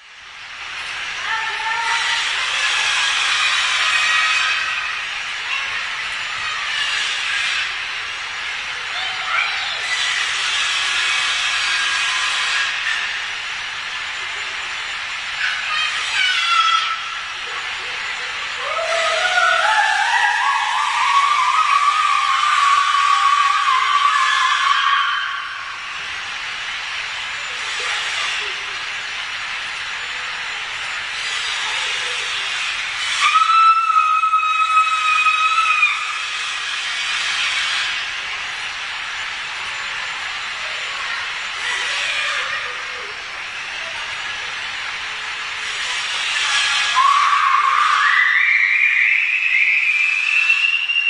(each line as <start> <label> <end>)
0.9 squealing of children playing on the courtyard 51.0
9.8 noise of cutter 13.4
36.1 noise of cutter 38.7